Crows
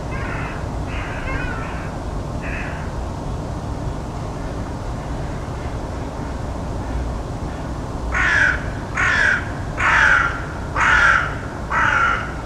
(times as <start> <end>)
0.1 2.9, 8.1 12.4